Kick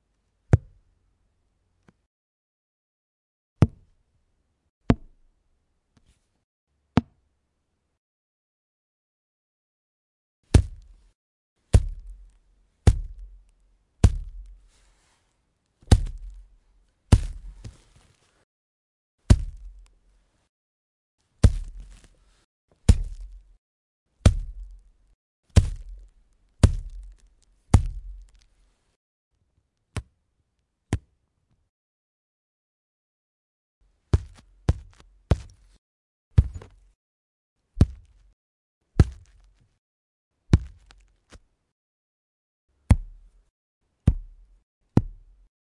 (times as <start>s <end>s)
10.5s 13.4s, 14.0s 14.7s, 15.9s 17.8s, 19.3s 19.9s, 21.4s 22.1s, 22.8s 23.6s, 24.2s 24.9s, 25.6s 28.4s, 34.1s 37.0s, 37.8s 38.4s, 39.0s 39.5s, 40.5s 41.0s, 42.9s 43.4s, 44.0s 45.5s